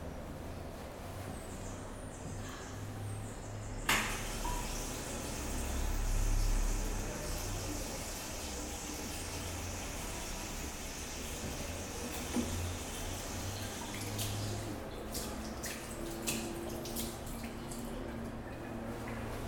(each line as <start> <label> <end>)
3.9 Llaves de agua 19.4